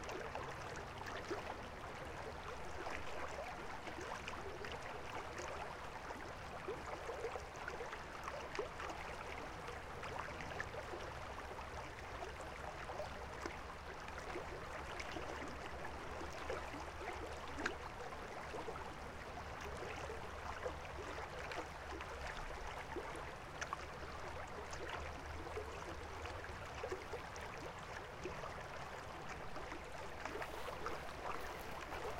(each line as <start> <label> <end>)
0.0 stream about 3 meters wide, flowing quietly 32.1